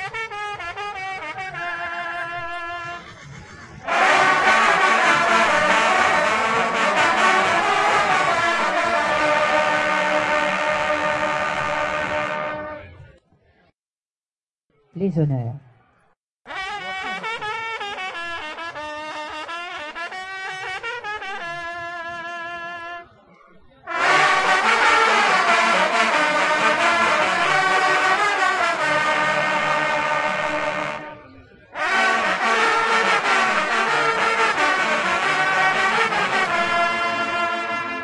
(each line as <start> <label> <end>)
0.0 hunting horn players team 3.0
3.8 hunting horn players team 13.0
16.5 hunting horn players team 23.1
23.8 hunting horn players team 38.0